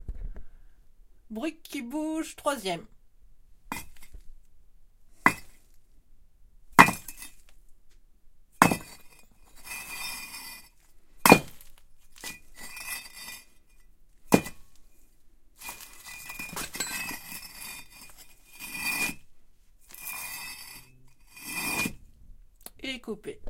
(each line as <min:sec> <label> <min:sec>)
0:03.7 two bricks rubbed against each other 0:04.2
0:05.2 two bricks rubbed against each other 0:05.6
0:06.8 two bricks rubbed against each other 0:07.4
0:08.6 two bricks rubbed against each other 0:13.6
0:15.6 two bricks rubbed against each other 0:19.2
0:19.8 two bricks rubbed against each other 0:22.0